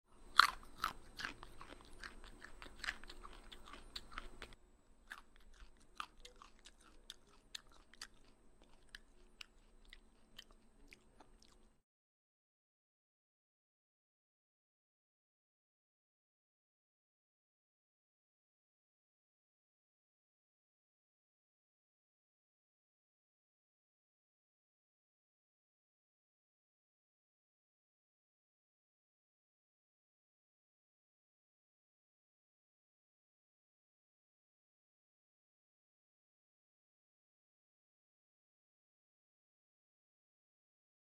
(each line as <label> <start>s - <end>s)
Eating a carrot 0.1s - 11.8s